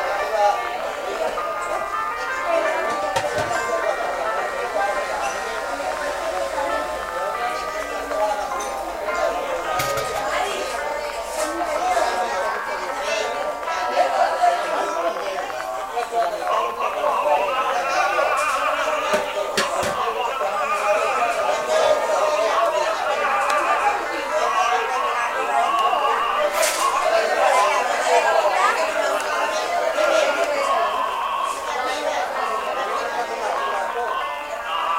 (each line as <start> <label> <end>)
0.0 people 34.9
16.5 man singing opera 27.0
30.4 man singing opera 34.9